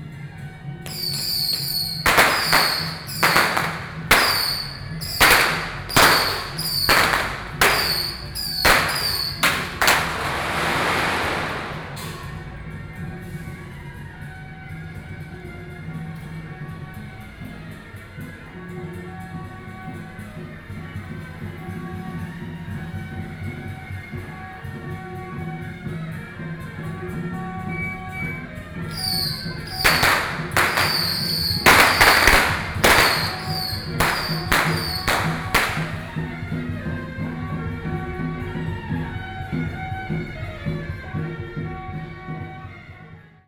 Firework 0:00.8 - 0:12.8
Firework 0:27.7 - 0:38.1

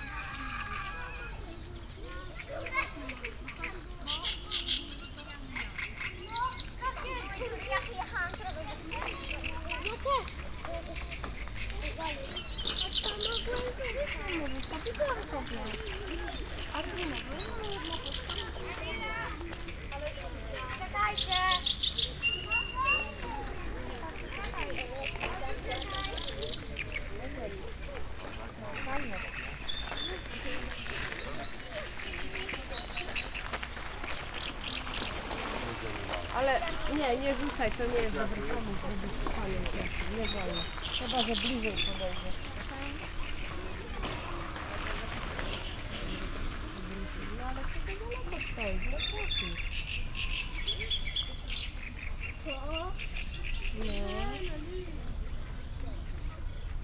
many different birds 0:00.0 - 0:56.8
young ducks running right by my feet 0:00.0 - 0:56.7
people resting 0:04.9 - 0:56.7

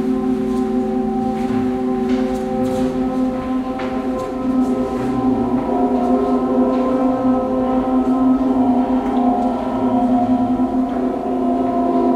steps of visitors 0:00.0 - 0:12.1

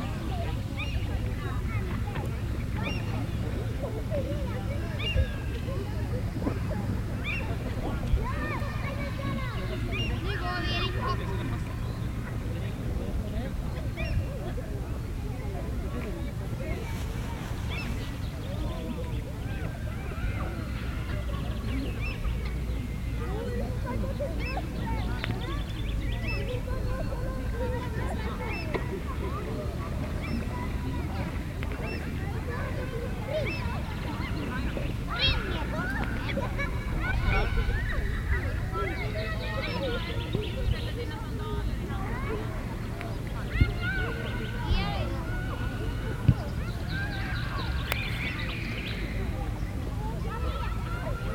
Children 0:00.0 - 0:51.3
Motor-boat keynote in background 0:00.0 - 0:51.3

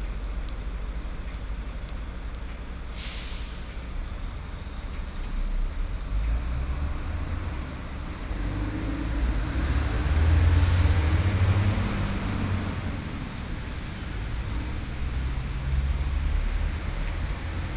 Rainy Day 0:00.0 - 0:17.7
traffic soundst 0:07.5 - 0:17.7

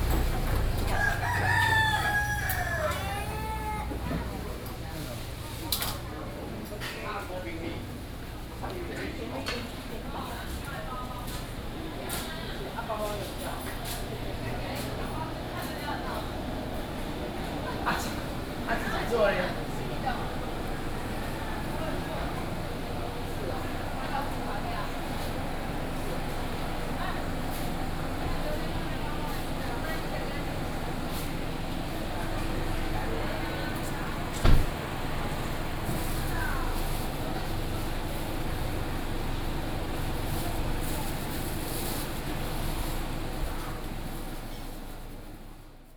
Walking 0:00.0 - 0:04.3

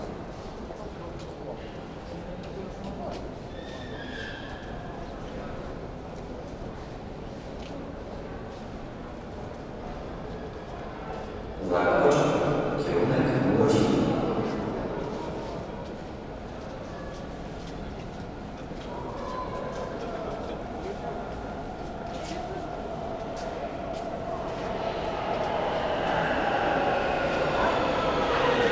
metro line 0:09.0 - 0:28.7

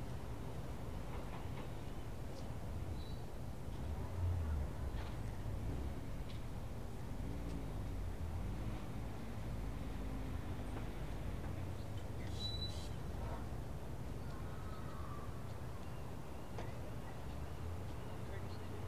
Cars and trucks (mostly old) coming in, parking, and leaving 0:00.0 - 0:14.6
Two ferries docking in the distance and unloading 0:00.0 - 0:18.8
Cars and trucks (mostly old) coming in, parking, and leaving 0:15.2 - 0:18.8

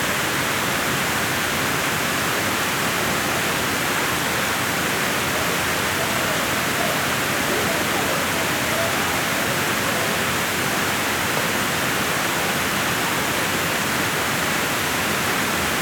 Waterfall 0:00.0 - 0:15.8

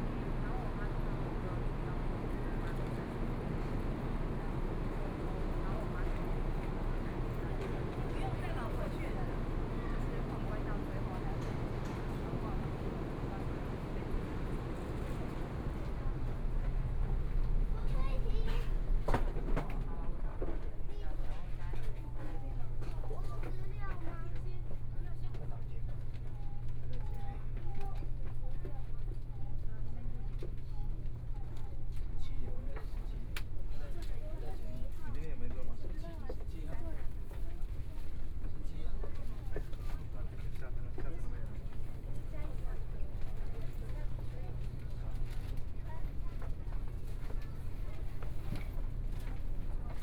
Train arrived 0:00.0 - 0:20.0

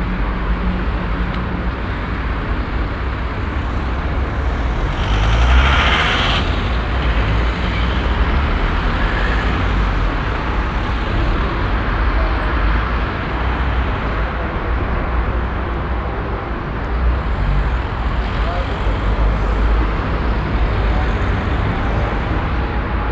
traffic 0:00.0 - 0:23.1

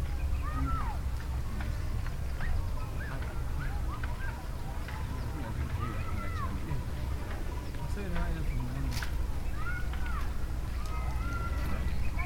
birds 0:00.0 - 0:12.2
boats down at the lake 0:00.0 - 0:12.2
many voices in the air 0:00.0 - 0:12.2
walking back up the way 0:00.0 - 0:12.2

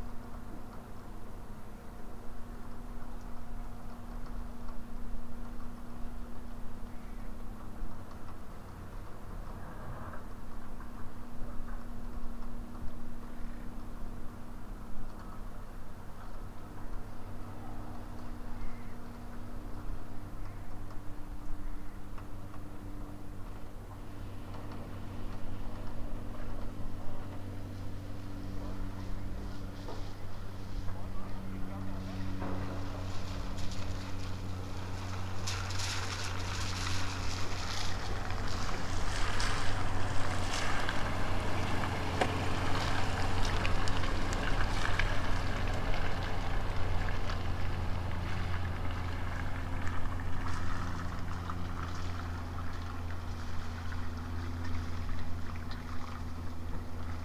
raining 0:23.4 - 0:57.2

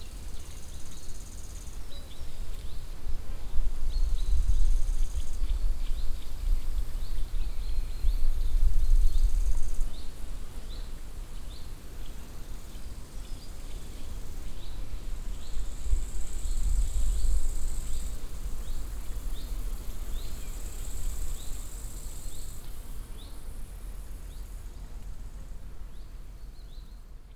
cicades singing 0:00.0 - 0:03.0
different insects 0:00.0 - 0:03.0
Walking through the broadleaf forest 0:00.0 - 0:27.3
different insects 0:03.7 - 0:27.3
cicades singing 0:03.8 - 0:27.3

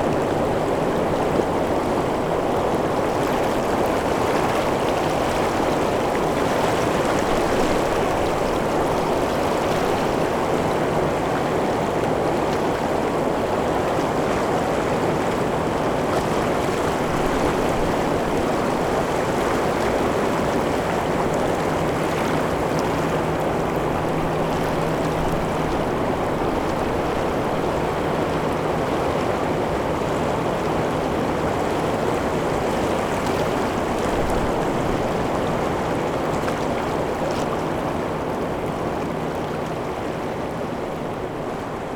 River 0:00.0 - 0:41.9

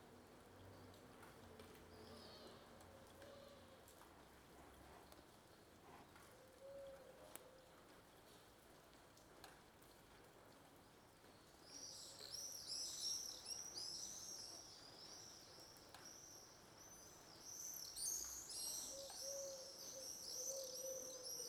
rain 0:00.0 - 0:21.4

